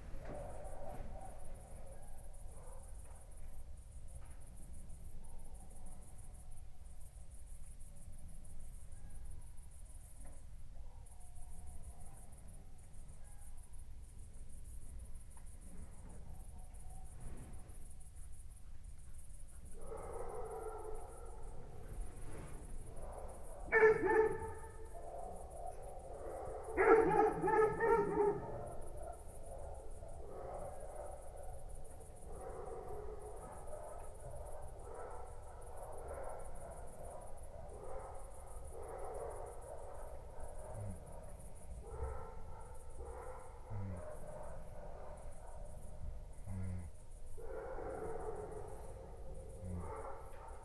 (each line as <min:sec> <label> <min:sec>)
0:00.0 Crickets 0:50.6
0:19.8 dogs barking 0:22.0
0:22.8 dogs barking 0:50.6